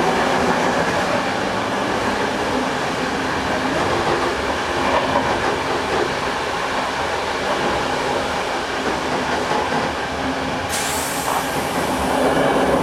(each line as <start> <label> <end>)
0.0 train rattles less and less on the rails 12.8